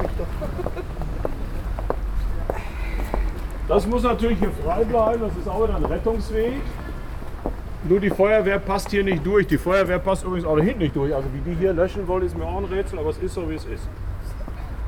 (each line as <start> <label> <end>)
0.0 guided tour 14.8